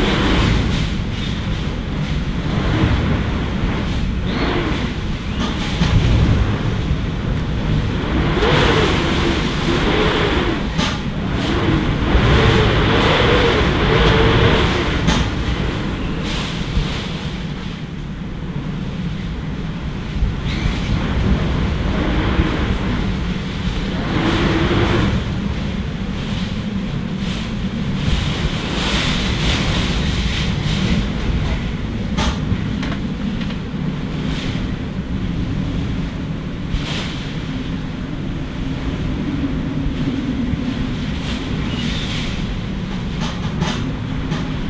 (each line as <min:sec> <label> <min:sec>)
0:00.0 Wind 0:44.6
0:00.0 rain 0:44.6